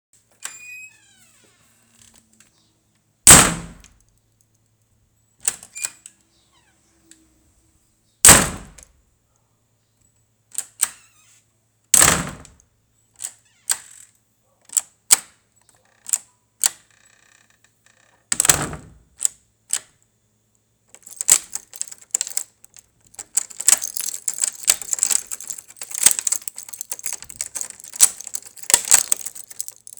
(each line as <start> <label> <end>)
0.3 lock 2.4
3.3 door 3.9
3.3 lock 4.1
5.4 lock 6.7
8.2 lock 8.9
10.5 lock 11.3
12.0 door 12.6
12.0 lock 12.6
13.2 lock 19.9
15.6 key 20.0
18.0 door 19.0
20.9 key 29.9
20.9 lock 29.9